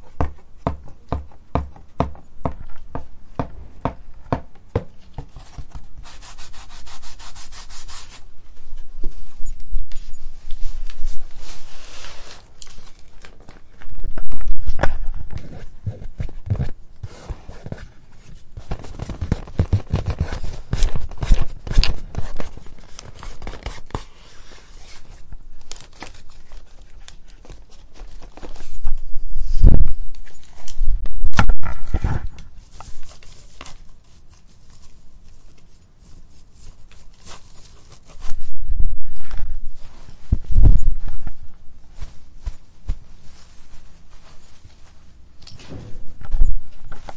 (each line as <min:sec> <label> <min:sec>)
0:09.1 notebook 0:29.0